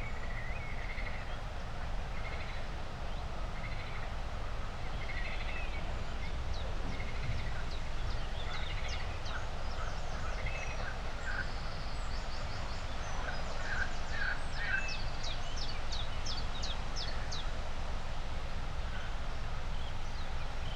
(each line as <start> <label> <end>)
0.0 distant machinery 14.4
0.0 wind 20.7